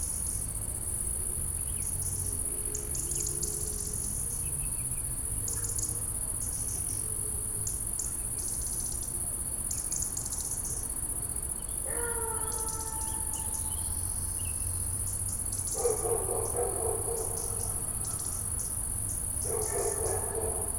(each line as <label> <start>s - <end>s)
stridulations d'insectes 0.0s - 20.7s